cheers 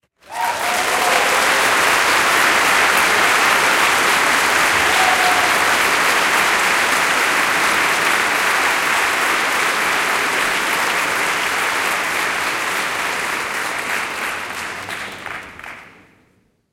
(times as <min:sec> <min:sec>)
0:00.2 0:07.2